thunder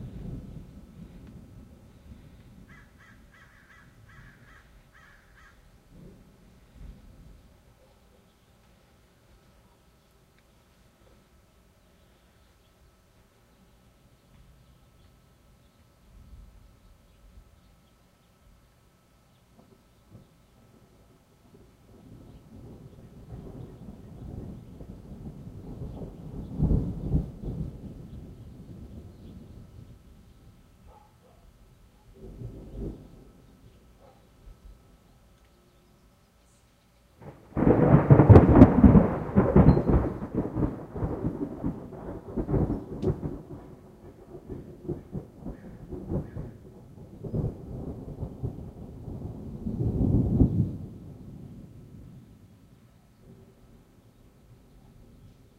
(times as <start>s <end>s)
0.0s 2.8s, 21.5s 30.0s, 32.2s 33.5s, 37.2s 52.4s